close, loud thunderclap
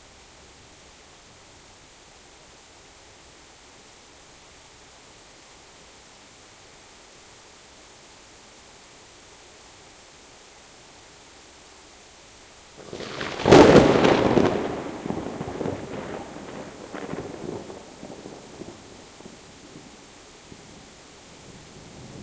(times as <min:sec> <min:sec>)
0:12.8 0:19.9